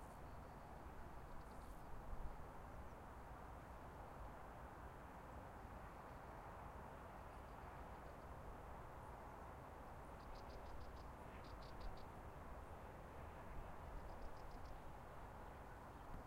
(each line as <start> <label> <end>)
0.0 Wind 16.2
10.2 Crickets 12.2
13.9 Crickets 14.9